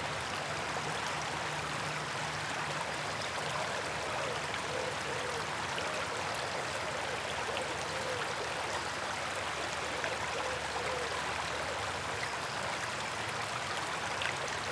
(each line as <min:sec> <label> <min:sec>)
0:00.0 river 0:14.7